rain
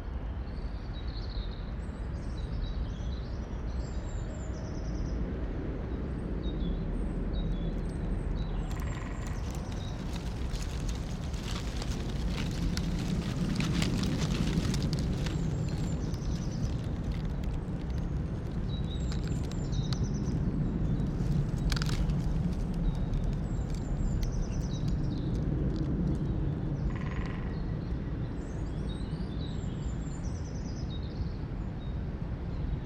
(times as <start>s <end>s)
8.4s 26.3s